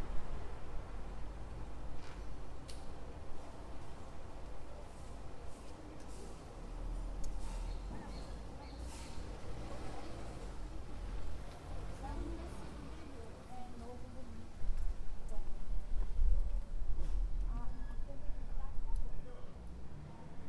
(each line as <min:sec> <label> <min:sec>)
0:00.0 busy avenue 0:20.4